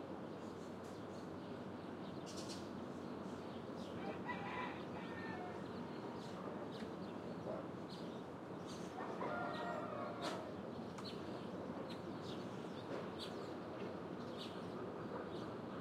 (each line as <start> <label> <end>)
0.1 birds 15.8
4.0 rooster 6.3
9.0 chickens 10.5
9.0 rooster 10.6